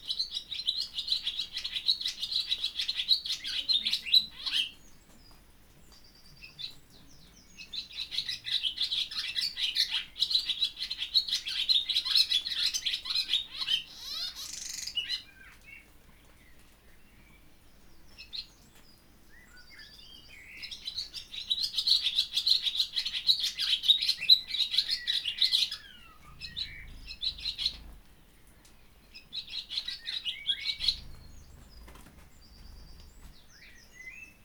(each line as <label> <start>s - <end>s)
blackbird 0.0s - 34.4s
swallow 'chattering' close to its nest 25.7s - 27.8s
swallow 'chattering' close to its nest 30.6s - 33.2s